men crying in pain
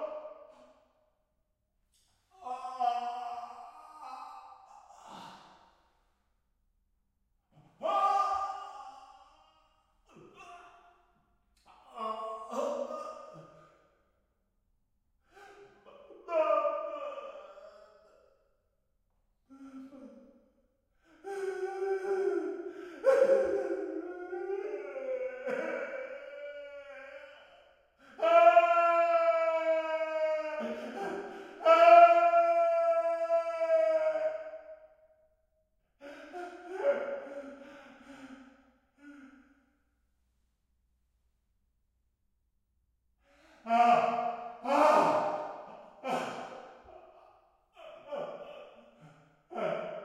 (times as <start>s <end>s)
2.4s 5.4s, 15.4s 18.1s, 21.2s 34.6s, 36.0s 38.4s, 43.6s 50.0s